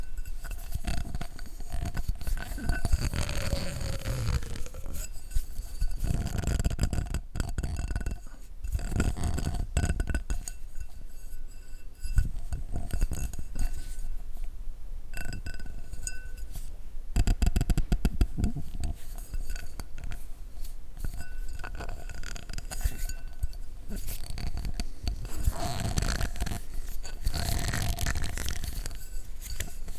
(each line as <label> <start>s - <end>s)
squeezing an empty glass with my fingers 1.9s - 5.2s
squeezing an empty glass with my fingers 21.6s - 29.9s